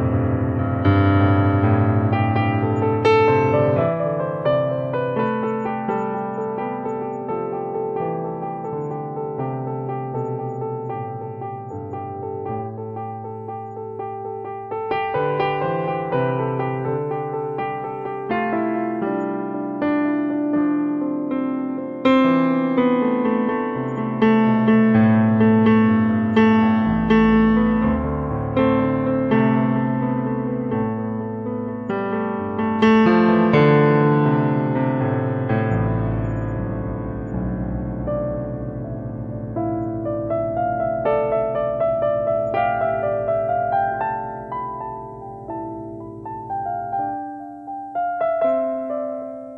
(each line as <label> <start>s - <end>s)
piano 0.0s - 49.5s